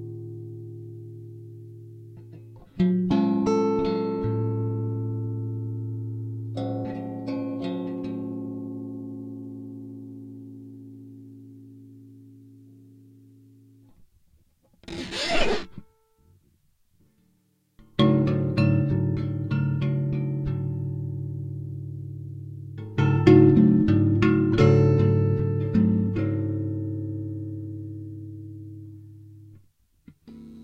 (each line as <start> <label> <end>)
14.8 prepared guitar 15.8